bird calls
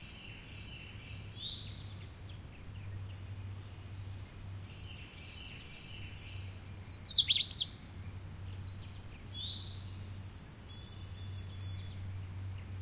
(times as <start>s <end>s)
0.0s 7.8s